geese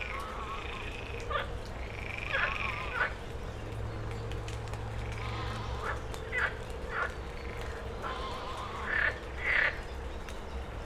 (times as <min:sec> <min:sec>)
0:05.0 0:07.1, 0:08.0 0:09.8